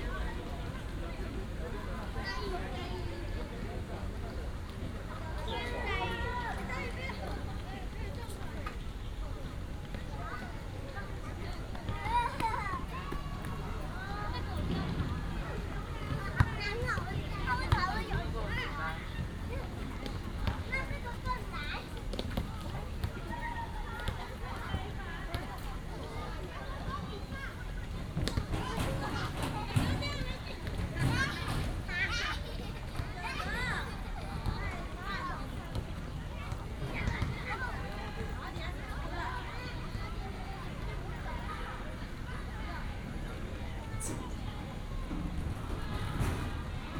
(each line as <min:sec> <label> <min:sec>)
0:00.0 Many people 0:46.9
0:10.2 Child 0:19.7
0:26.1 Child 0:35.5